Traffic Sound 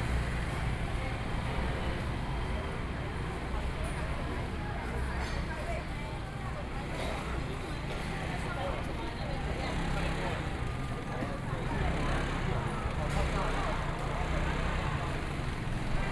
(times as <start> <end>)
7.7 16.1